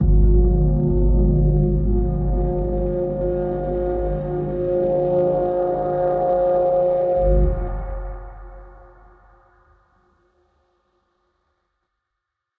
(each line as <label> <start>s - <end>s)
Drone 0.0s - 9.6s
Pad 0.0s - 9.6s
Piano 0.0s - 9.7s